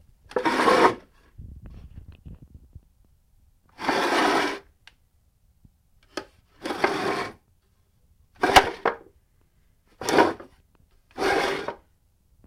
wooden chair scoots along the floor 0:00.3 - 0:01.0
wooden chair scoots along the floor 0:06.6 - 0:07.4
wooden chair scoots along the floor 0:10.0 - 0:10.5
wooden chair scoots along the floor 0:11.2 - 0:11.8

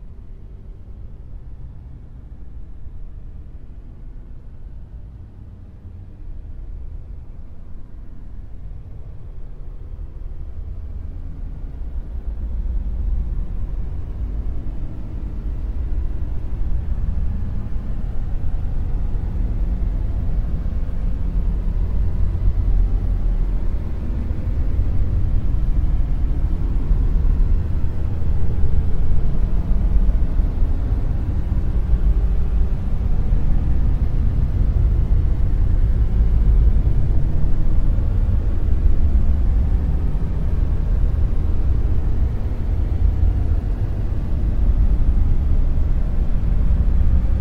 rumble 0:00.0 - 0:47.4
brown noise 0:09.6 - 0:47.4
drone 0:11.0 - 0:47.4

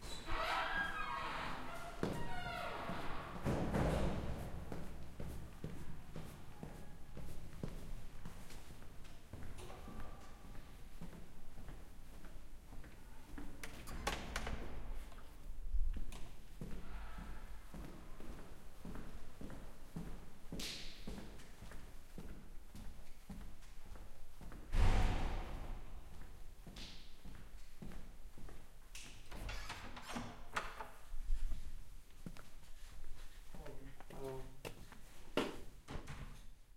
footsteps 0:31.1 - 0:35.7

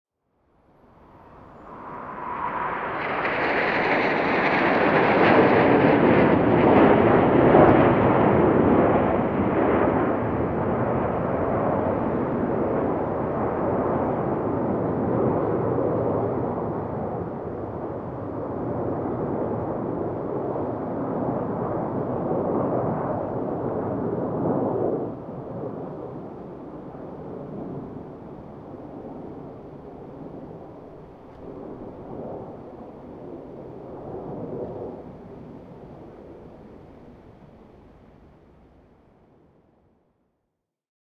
single plane coming in from the right to the left 0:00.5 - 0:39.2

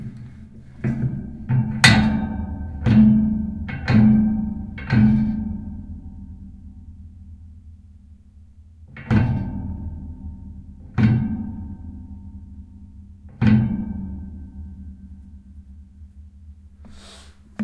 Metallic bass perc 0:00.0 - 0:17.6

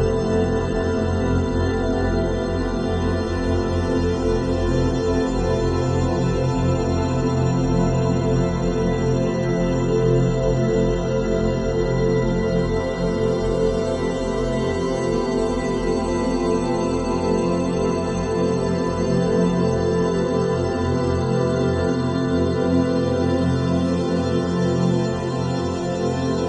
synthesizer 0:00.0 - 0:26.4

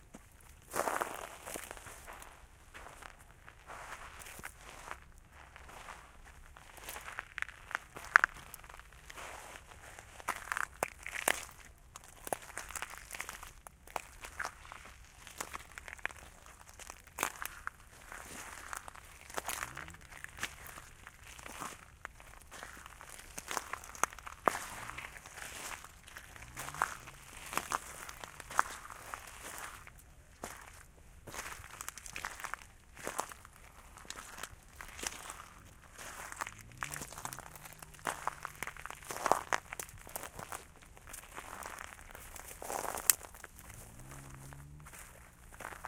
vegetation craking 0:18.4 - 0:30.0
vegetation craking 0:33.2 - 0:45.4

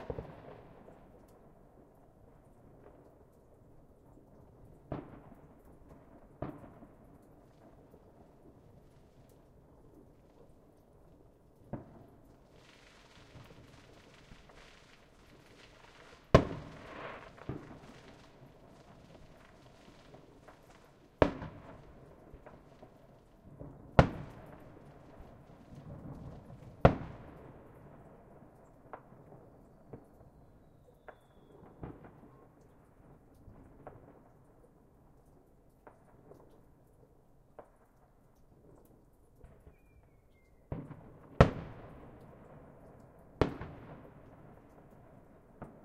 fireworks being set off 0:00.0 - 0:00.9
melting snow dripping off of my porch's roof 0:00.0 - 0:45.8
fireworks being set off 0:11.7 - 0:23.3

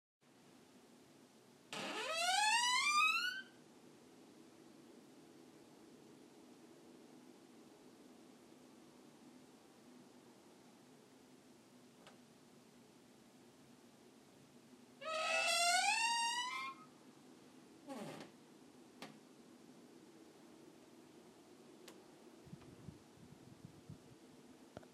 creaking door 0:01.7 - 0:03.5
creaking door 0:15.0 - 0:16.9
creaking door 0:17.9 - 0:18.4

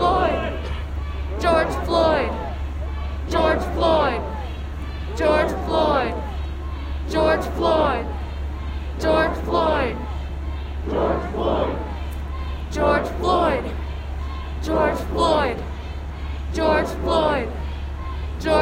close up and distant chanting in the crowd 0:00.0 - 0:18.6

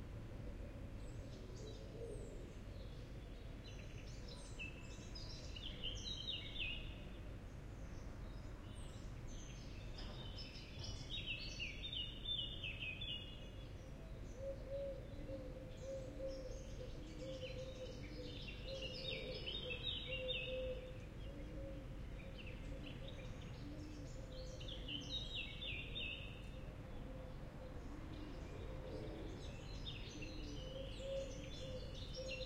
nightingale 0:00.7 - 0:32.4
blackbird 0:07.8 - 0:32.4

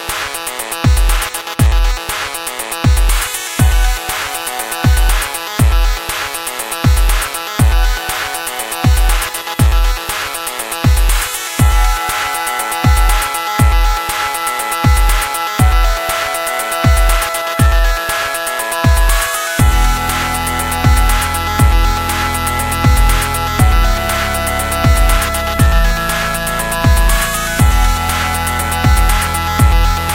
synth 0:03.4 - 0:06.4
synth 0:11.3 - 0:30.1

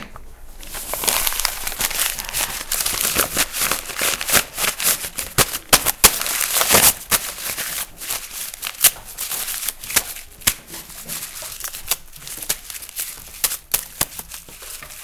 paper scrunching 0:00.6 - 0:15.0

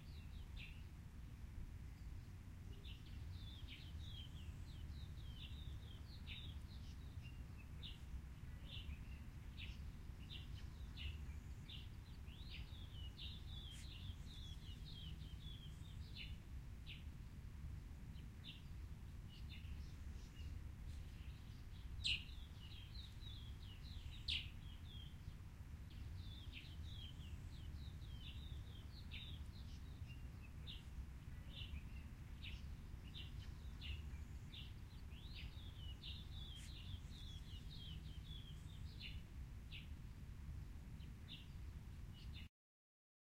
subtle wind and trees 0:00.0 - 0:42.5
Birds chirping 0:02.8 - 0:17.0
Birds chirping 0:19.3 - 0:39.9

